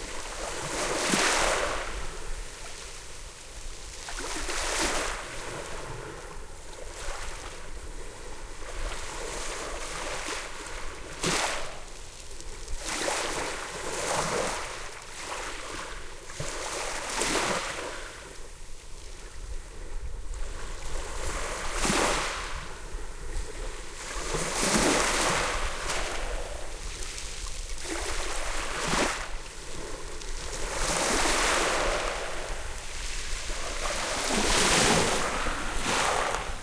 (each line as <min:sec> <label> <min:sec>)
0:20.8 soft waves splashing on the pebbles 0:36.6